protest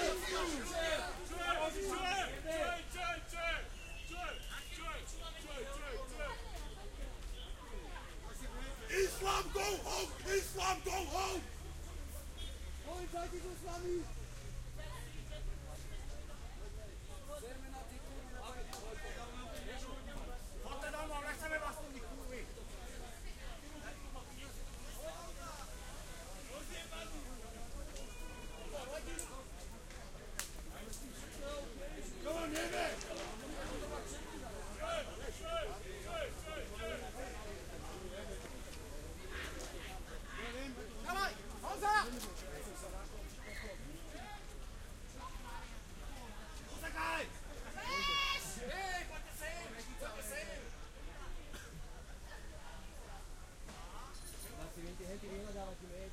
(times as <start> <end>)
0.0 7.5, 8.6 14.3